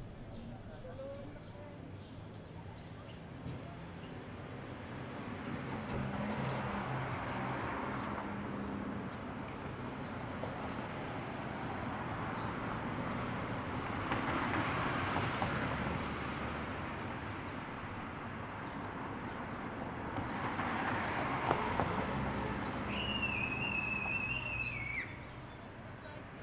Car pass 0:10.5 - 0:25.2

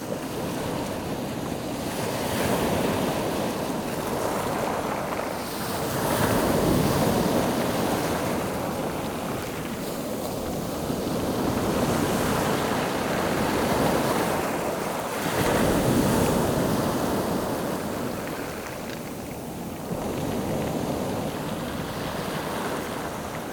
Lot of wind 0:00.0 - 0:23.5
waves lapping on the pebbles 0:00.0 - 0:23.5

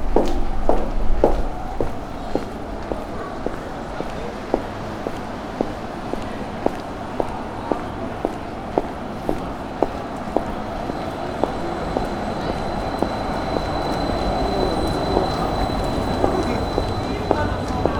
green boots, walking 0:00.0 - 0:14.2

